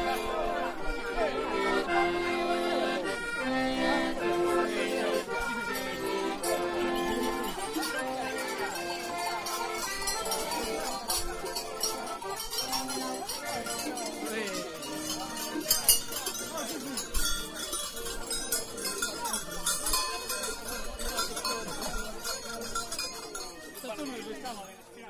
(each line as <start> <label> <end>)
0.0 Little accordeon 25.0
0.0 bells 25.0
0.0 voices 25.0